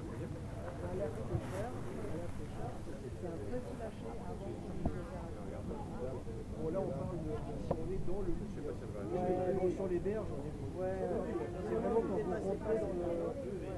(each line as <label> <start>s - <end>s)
visiteurs et participants 0.0s - 13.7s